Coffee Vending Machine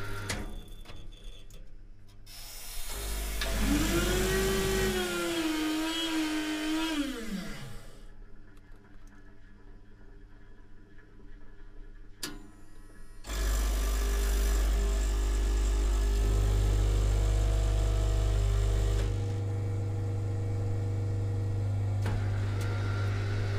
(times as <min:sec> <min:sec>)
0:00.0 0:05.5, 0:13.2 0:23.5